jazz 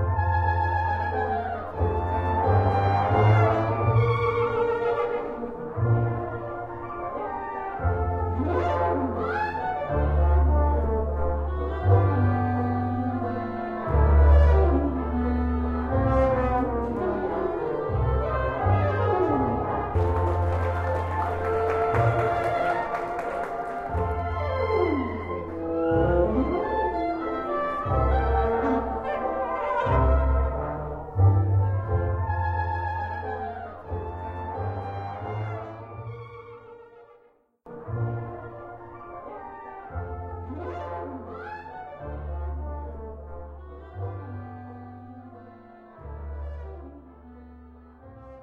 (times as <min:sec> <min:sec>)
0:00.0 0:37.0